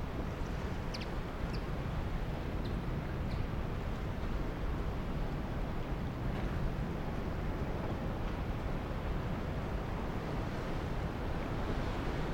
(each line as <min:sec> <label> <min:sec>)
0:00.0 Sea 0:12.3
0:00.0 Wind 0:12.3
0:00.9 bird 0:01.6